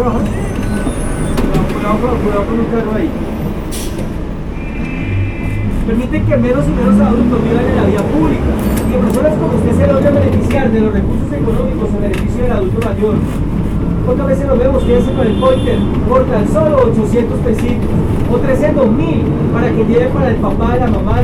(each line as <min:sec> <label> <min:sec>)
0:04.6 Alguien que vende esferos 0:15.2